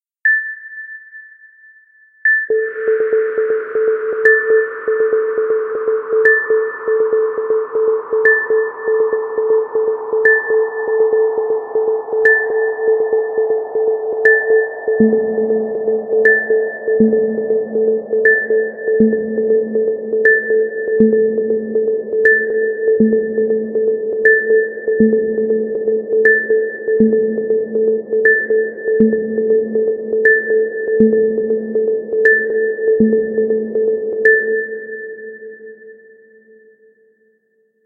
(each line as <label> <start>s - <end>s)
bleep 0.3s - 1.7s
bleep 2.3s - 13.6s
synth 2.5s - 34.6s